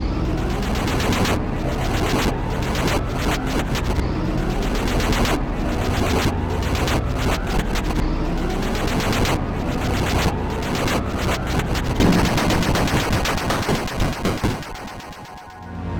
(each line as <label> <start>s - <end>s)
charging power magical explosion power explosion magic blast 12.0s - 15.6s